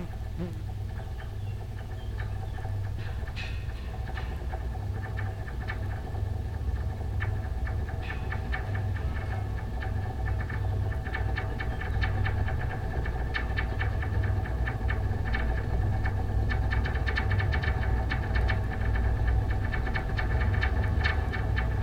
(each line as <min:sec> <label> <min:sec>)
0:00.0 high tension cable 0:00.6